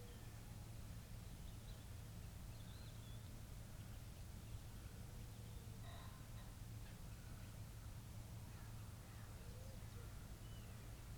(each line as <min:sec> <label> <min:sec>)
0:00.0 background noise from traffic 0:11.1